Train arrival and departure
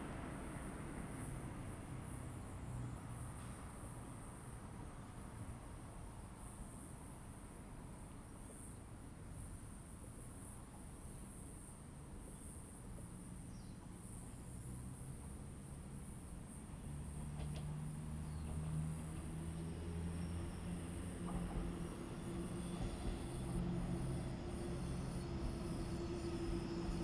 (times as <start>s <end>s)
16.7s 27.0s